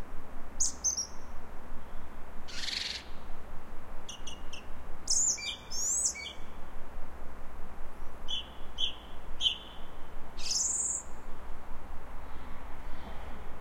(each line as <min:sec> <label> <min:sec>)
0:00.6 Song Thrush (Turdus philomelos) 0:03.4
0:04.0 Song Thrush (Turdus philomelos) 0:06.7
0:08.0 Song Thrush (Turdus philomelos) 0:11.4